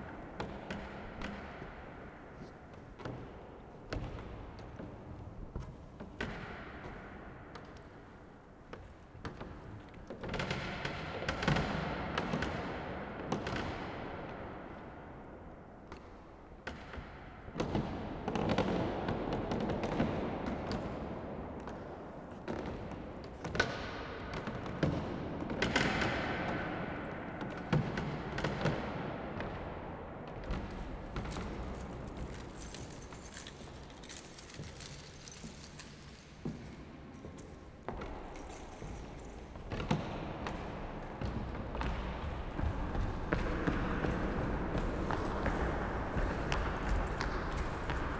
walking in the corridor 0.0 - 48.1

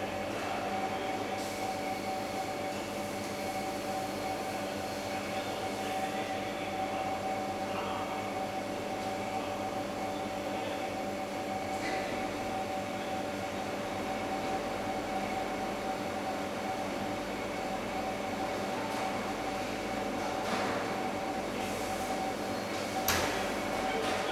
refrigerators 0.0 - 24.3
kitchen staff preparing lunch 18.4 - 24.3

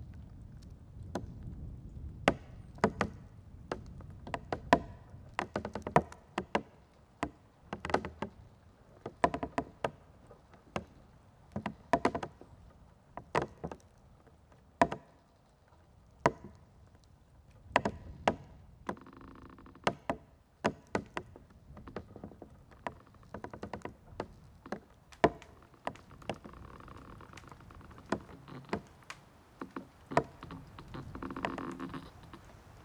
little river 17.9 - 32.8
moaning trees in wind 20.8 - 32.8

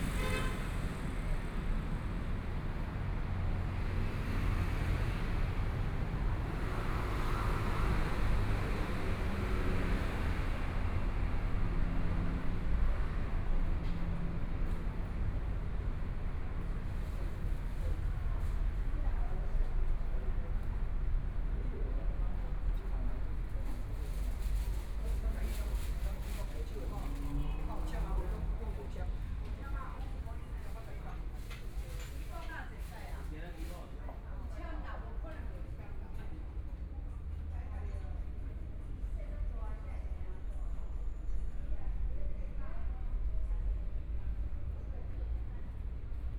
Traffic Sound 0.0 - 18.2

